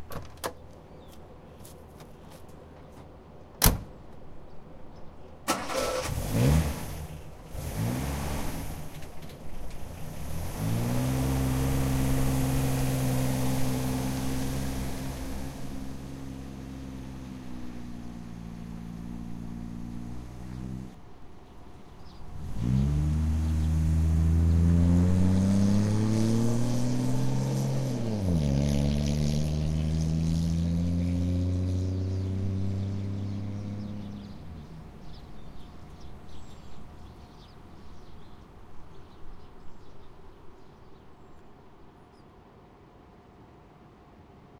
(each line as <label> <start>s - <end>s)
birds 0.1s - 5.5s
holden 61 ek reverse-drive off 5.5s - 15.9s
birds 17.3s - 23.8s
birds 31.9s - 42.4s